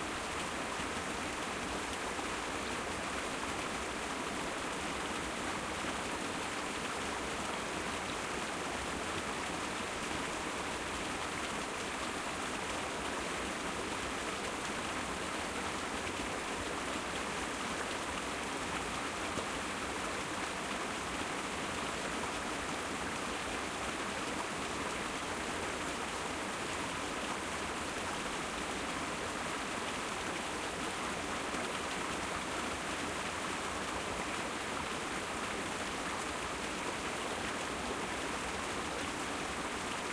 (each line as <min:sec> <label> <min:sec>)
0:00.0 small waterfall, about 3ft drop 0:40.1